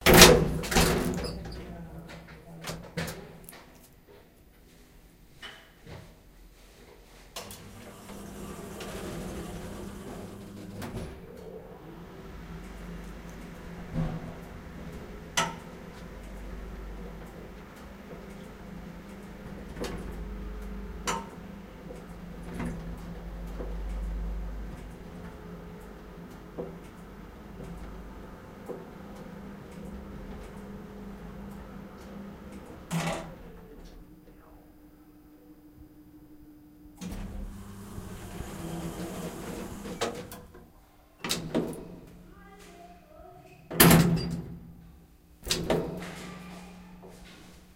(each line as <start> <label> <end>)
7.4 elevator lifter start stop 34.1
37.0 elevator lifter start stop 40.5